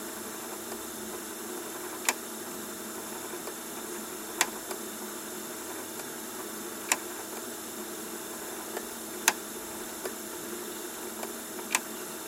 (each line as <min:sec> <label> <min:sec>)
0:00.0 cassette deck tape turn 0:12.2